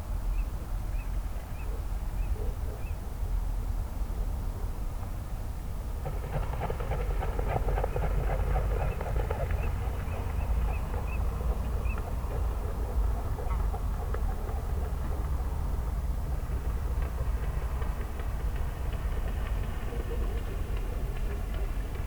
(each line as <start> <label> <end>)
6.0 ducks 15.3